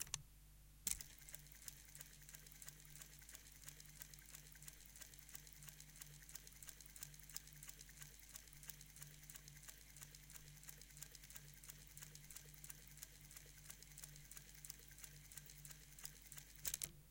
0.9s machine à coudre 17.0s

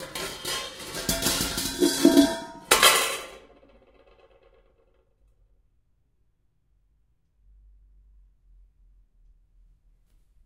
0.0s pots and pans banging around 3.7s

